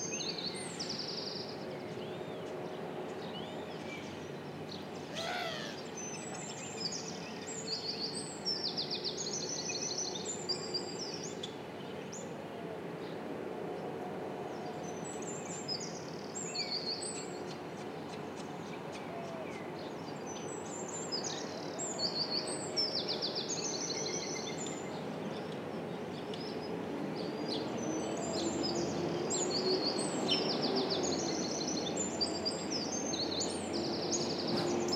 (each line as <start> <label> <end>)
0.0 Birds 12.2